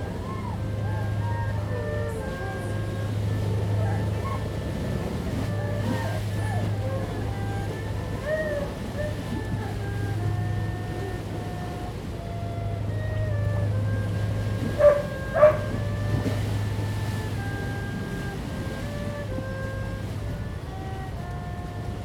Erhu 0.0 - 22.0
Tide 0.0 - 22.0
Dogs barking 14.8 - 15.7

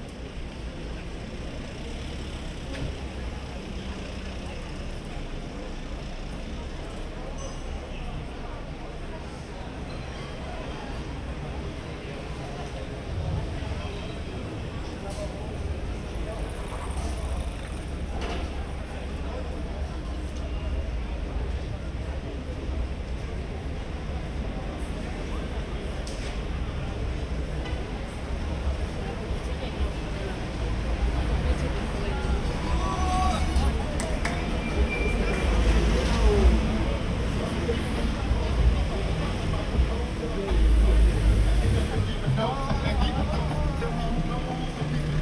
car traffic 0.0 - 45.2
people talking 0.0 - 45.2

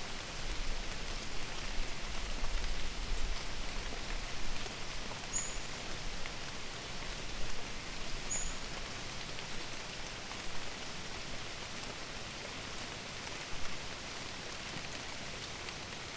rain 0.0 - 16.1

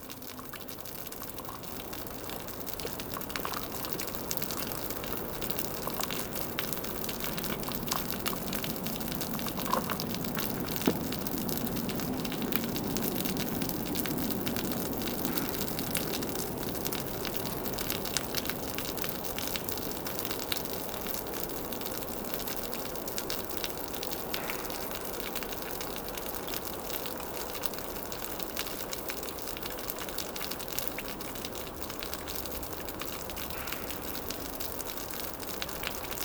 long and sad rain befall on the gloomy land 0.0 - 36.2

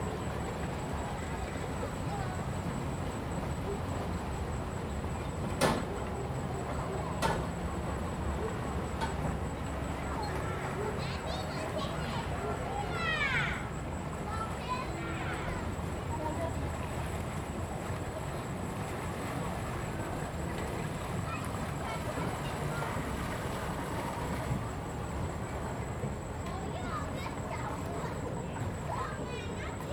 tourists stepping on the boat on the lake 0.0 - 29.9

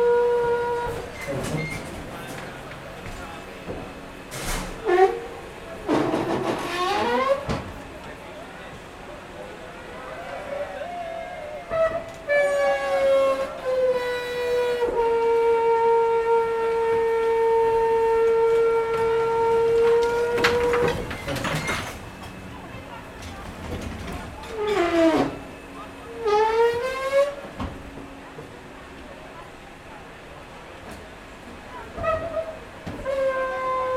People talking 1.3 - 4.0
People talking 7.0 - 14.1
People talking 19.9 - 33.8

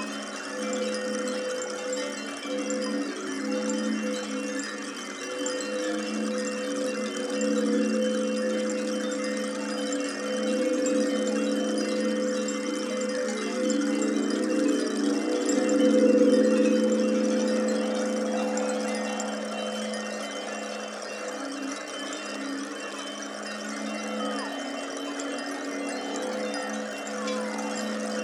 clay aeolian ocarinas 0.0 - 28.2

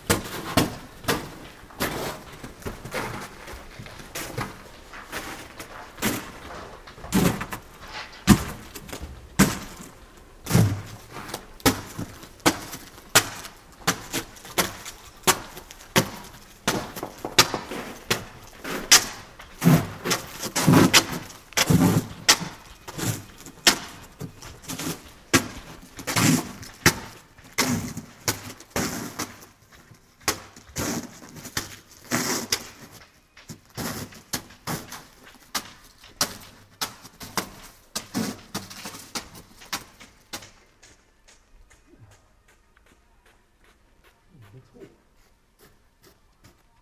cracking snow 0.0 - 42.1

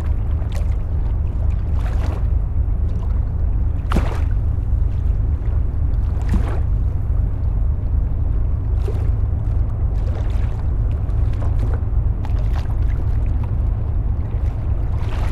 boat is dredging the Seine river 0.0 - 15.3

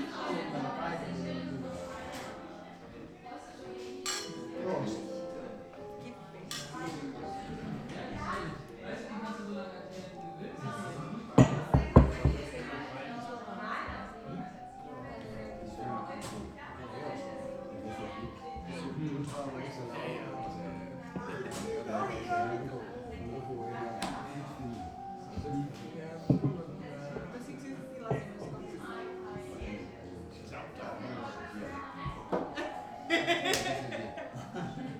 bar people 0.0 - 34.9

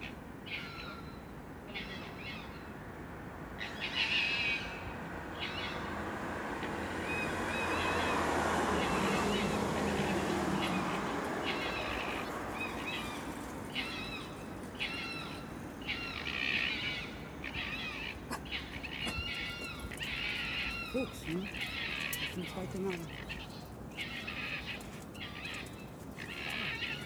Foxes playing 5.3 - 27.0

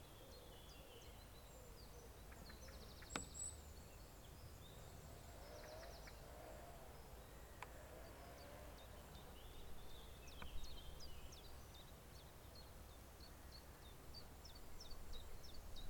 chainsaw 5.0 - 7.0

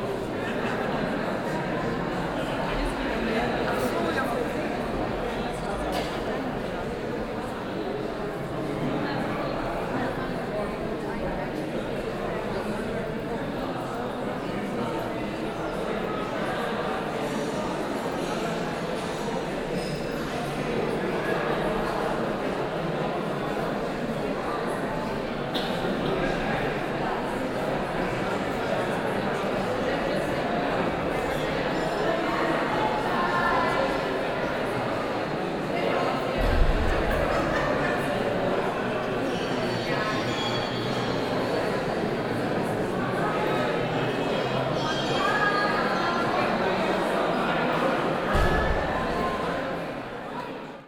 people 0.0 - 50.8

